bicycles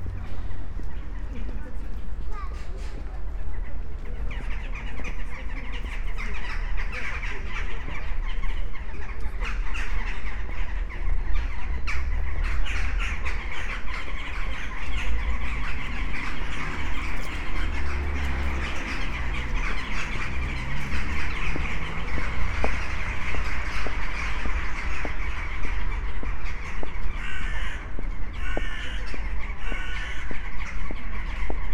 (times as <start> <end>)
11.6 31.7